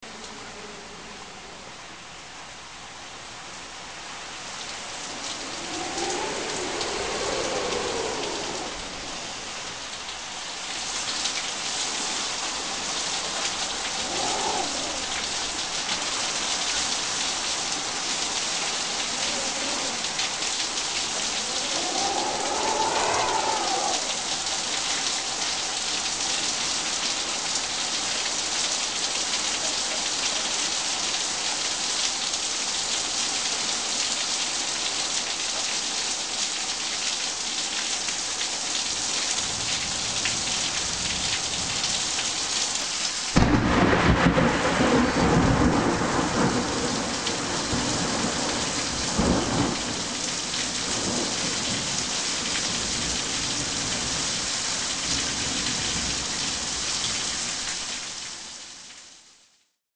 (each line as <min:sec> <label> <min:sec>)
0:00.0 wind 0:59.4
0:00.0 rain 0:59.8
0:04.9 lightning crash 0:09.9
0:43.4 lightning crash 0:48.5